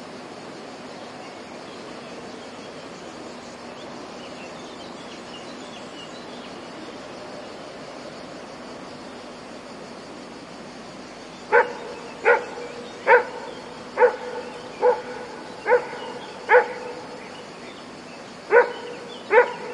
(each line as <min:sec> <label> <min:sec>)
0:11.5 dog barking far away 0:17.0
0:18.5 dog barking far away 0:19.7